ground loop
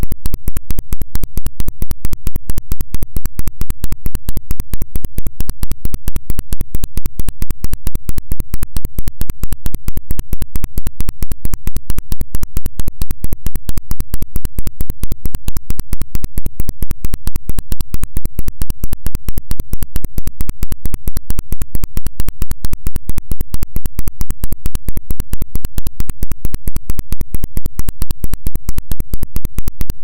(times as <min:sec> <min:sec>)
0:00.0 0:01.1